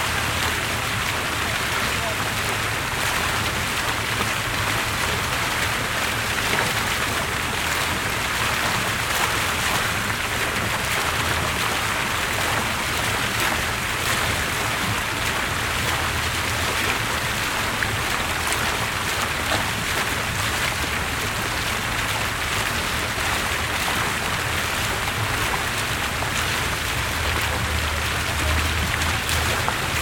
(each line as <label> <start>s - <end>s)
water in the fountain 0.0s - 30.0s